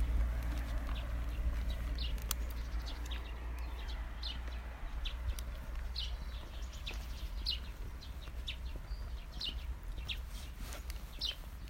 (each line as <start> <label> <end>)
0.0 birds 11.6
0.0 horses 11.6